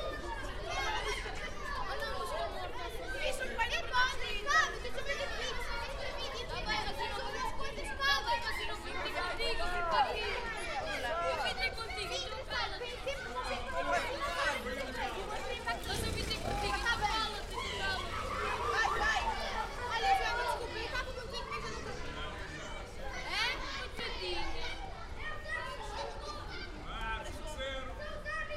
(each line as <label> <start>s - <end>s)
Kids playing football 0.0s - 28.5s
people chatting 0.0s - 28.5s
cars and motorcycles passing by 13.6s - 26.2s